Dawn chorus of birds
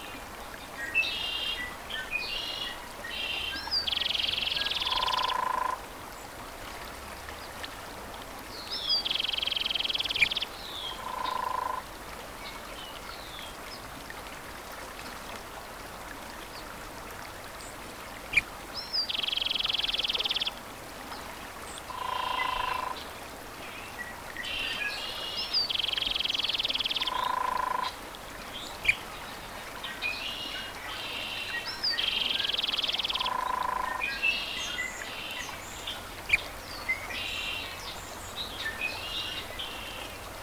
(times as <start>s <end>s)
30.5s 40.4s